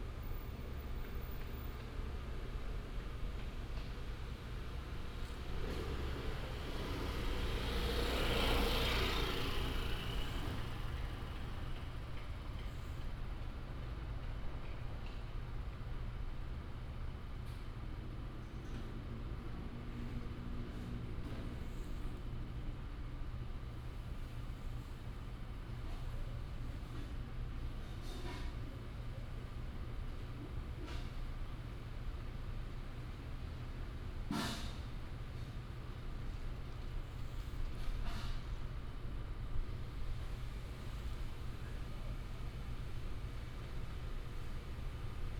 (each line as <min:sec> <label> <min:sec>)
0:00.0 traffic sound 0:45.3